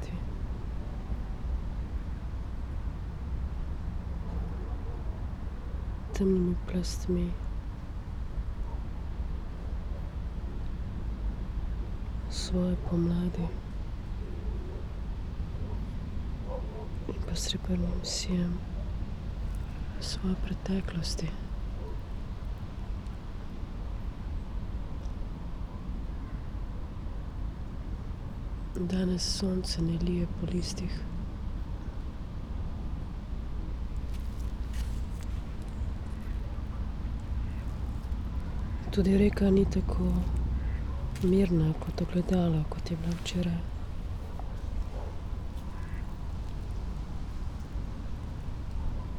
autumn voices 0.0 - 0.4
river Drava 27.4 - 49.1
autumn voices 28.6 - 49.1

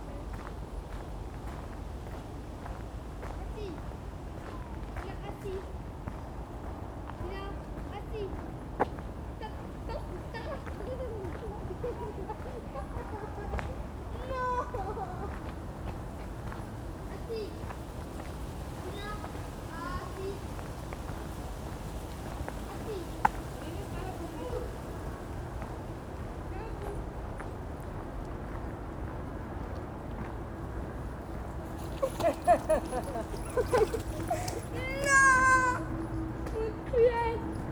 crunchy gravel path 0.1 - 35.8
boy is frustrated by his dog 33.2 - 36.0

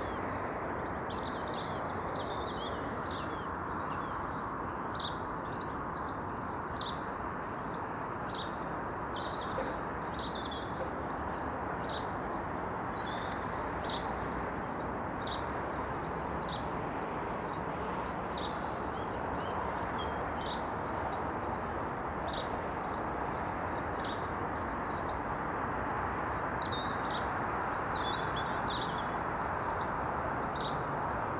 Motorway sound is unrelenting 0.0 - 31.3
robin sings 0.0 - 31.3
Sparrows chat 9.1 - 11.2

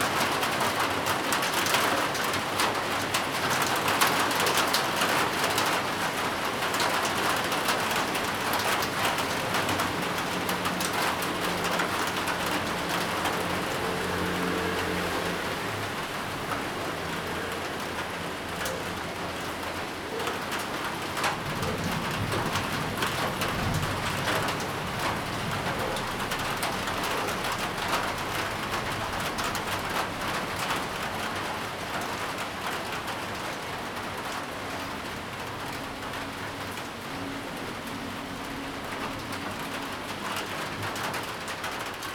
Traffic Sound 0.0 - 42.1
thunderstorm 21.0 - 30.4

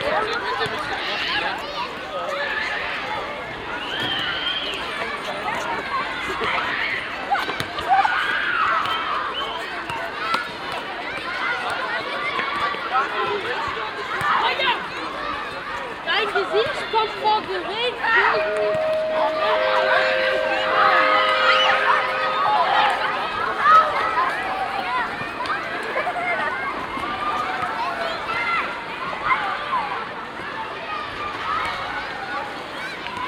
schoolyard noise 0.0 - 33.2

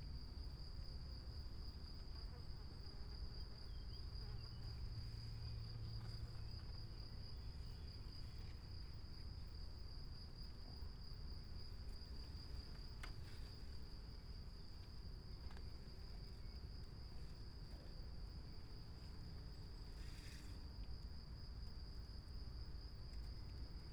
crickets 0.0 - 23.9

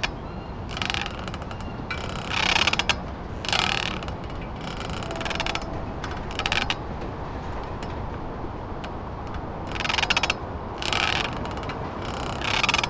brackets squeaking against a damp wood pylon 0.0 - 12.8

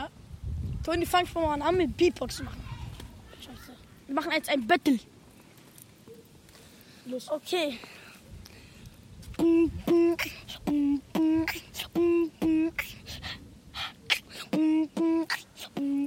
Beatbox battle 9.3 - 16.0

